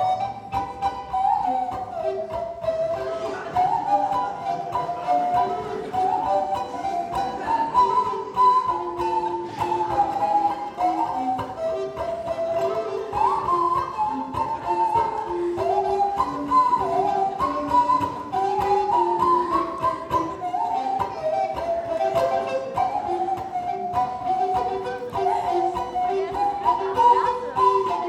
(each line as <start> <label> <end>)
0.0 playing a traditional bavarian melodie 28.0